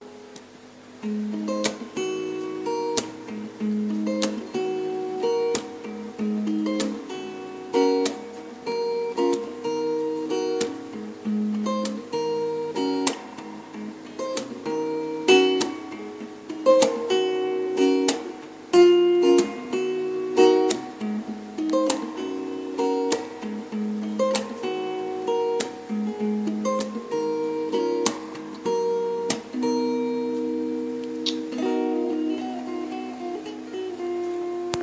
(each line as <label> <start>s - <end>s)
guitar experiments 0.0s - 34.8s